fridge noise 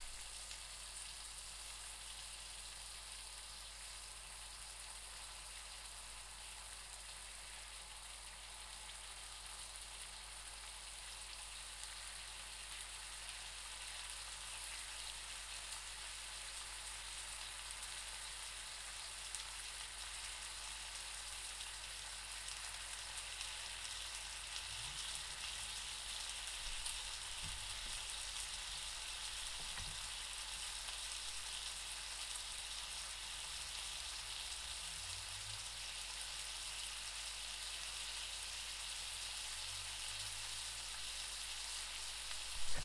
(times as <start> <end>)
42.4 42.8